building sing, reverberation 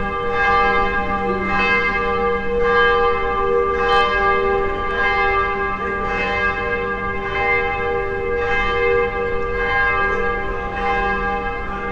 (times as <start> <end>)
3.1 7.3